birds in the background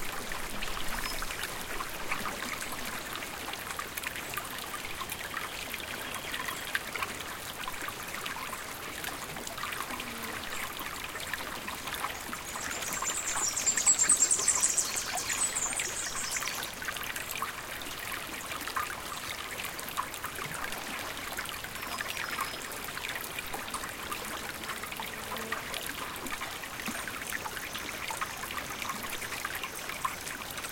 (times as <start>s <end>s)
12.1s 16.8s